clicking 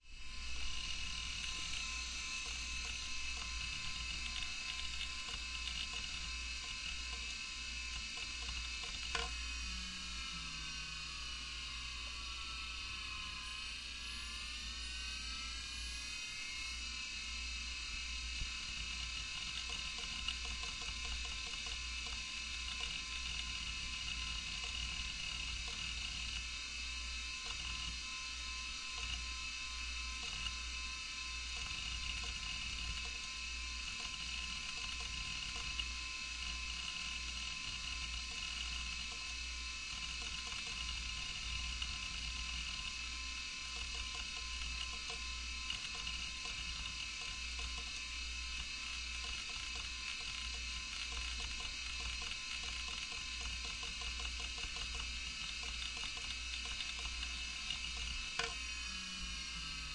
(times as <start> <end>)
8.2 9.4, 48.6 58.6